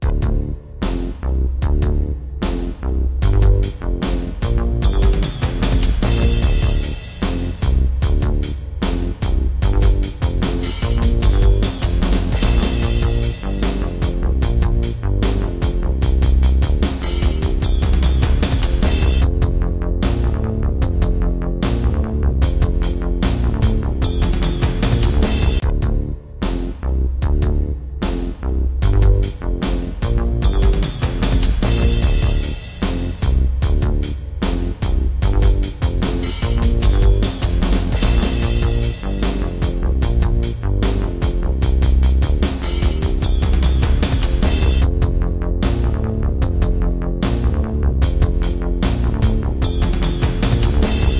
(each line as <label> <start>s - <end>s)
Bass 0.0s - 51.1s
Drums 0.0s - 51.1s